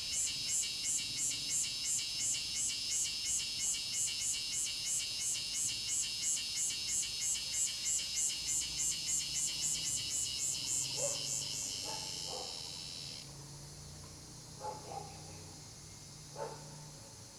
Cicadas sound 0.0 - 17.3
Dogs barking 11.0 - 12.6
Dogs barking 14.6 - 15.2
Dogs barking 16.4 - 16.9

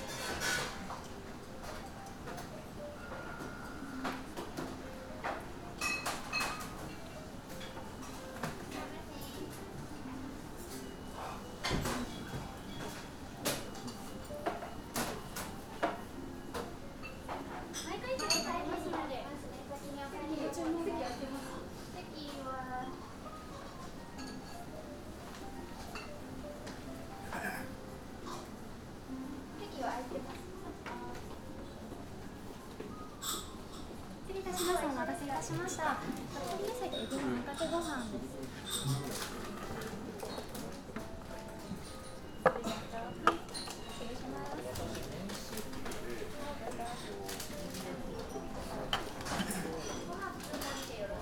waitresses talking to customers 17.9 - 23.3
customers walking in and out 20.6 - 51.2
waitresses talking to customers 34.2 - 38.7
hushed conversations 34.2 - 51.2

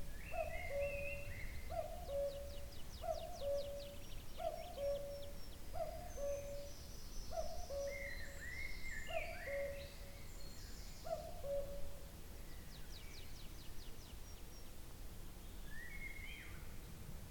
Cuckoo very nearby in a tree 0.0 - 14.7

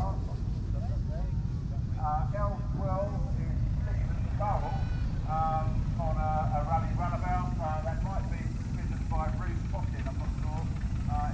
commentary 0.0 - 11.3
motorcycles doing their round 2.0 - 11.3

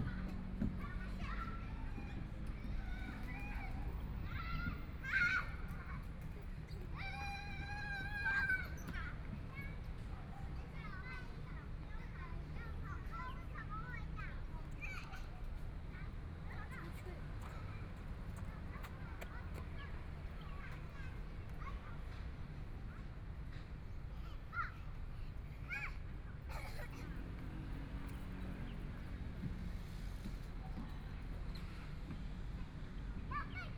Traffic Sound 11.0 - 33.7

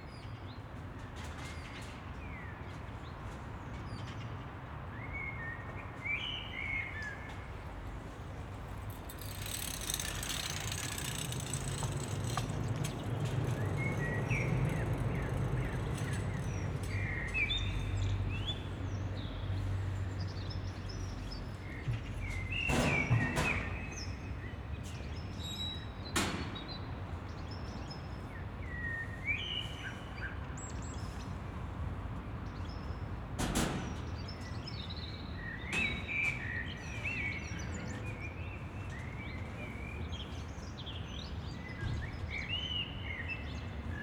distant train 8.0 - 18.8

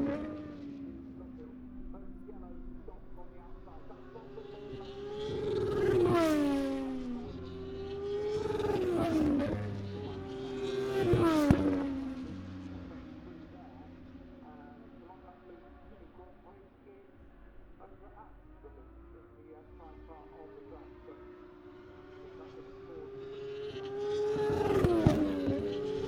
moto two free practice one 0.0 - 26.0

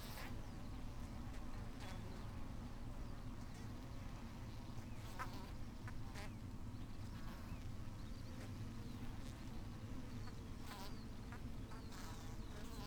bees swarming on the outside of one of the hives 7.1 - 12.8

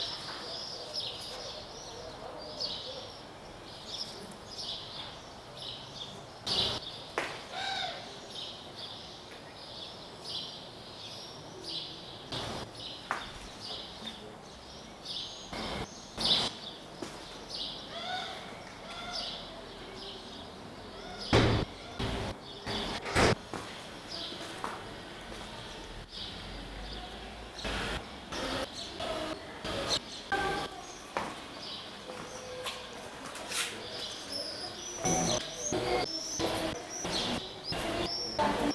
steps 12.4 - 13.8
steps 15.6 - 17.4
steps 21.3 - 26.0
steps 27.6 - 34.4
steps 35.0 - 38.7

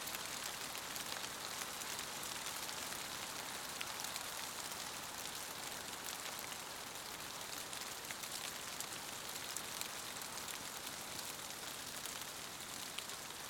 Rain in a corn field 0.0 - 13.4

